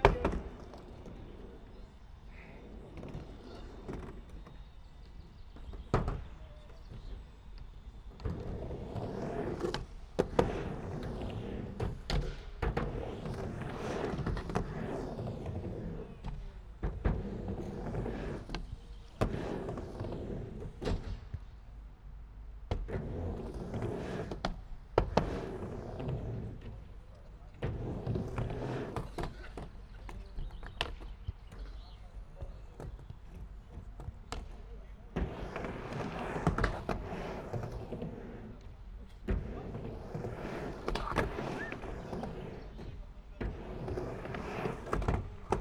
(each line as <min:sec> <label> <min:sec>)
0:00.0 Skater at half pipe 0:45.6